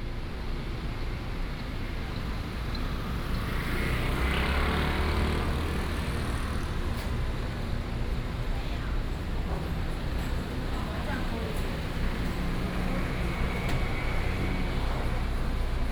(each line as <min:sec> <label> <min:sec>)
0:02.8 Traffic Sound 0:15.9
0:08.0 Walking on the road 0:15.9